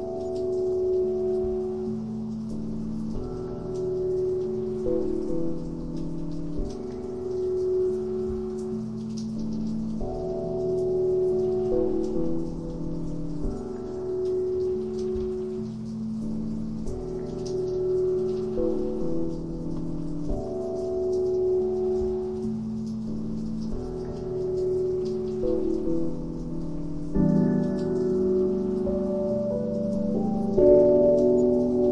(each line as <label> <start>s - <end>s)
Piano 0.0s - 31.9s